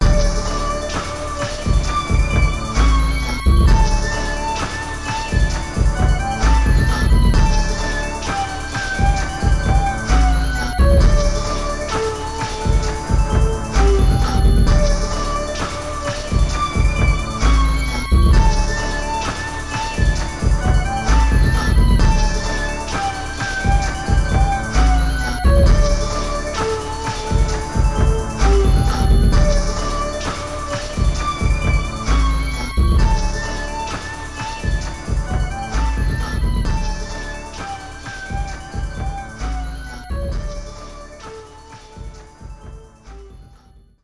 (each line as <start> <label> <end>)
0.0 synth 43.7